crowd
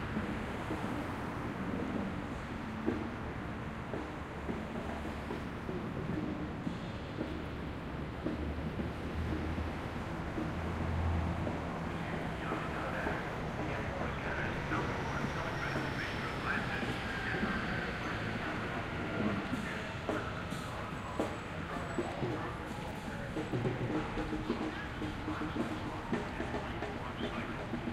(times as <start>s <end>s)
7.1s 27.9s